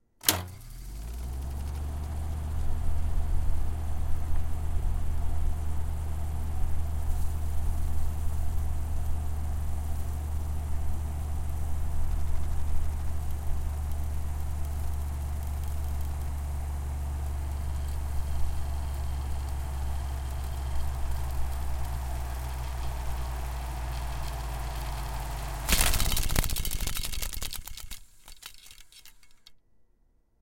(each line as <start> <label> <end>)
0.2 reel to reel tape machine start stop rewind 29.6
17.5 spinout flappy 29.5